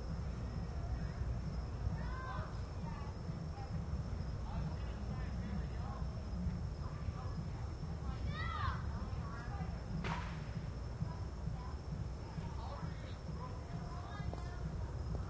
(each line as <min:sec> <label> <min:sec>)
0:00.0 party in the distance 0:15.2
0:10.0 firecrackers 0:10.7